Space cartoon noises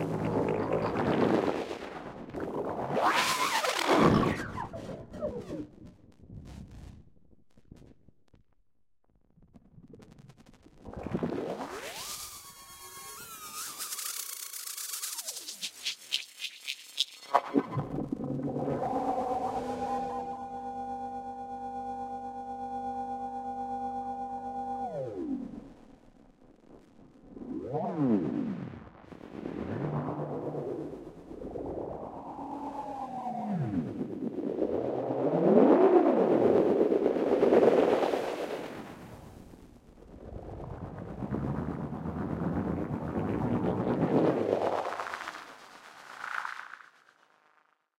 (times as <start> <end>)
0.0 5.8